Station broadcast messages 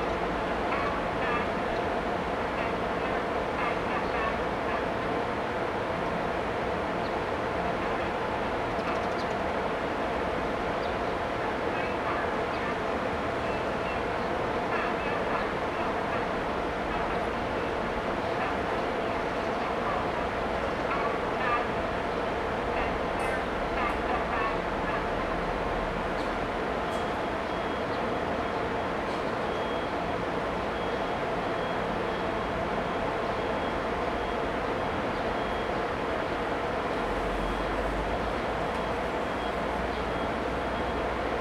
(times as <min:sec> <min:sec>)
0:11.7 0:25.6